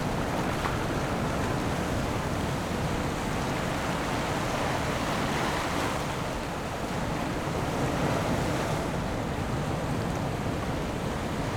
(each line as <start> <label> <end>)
0.0 waves 11.5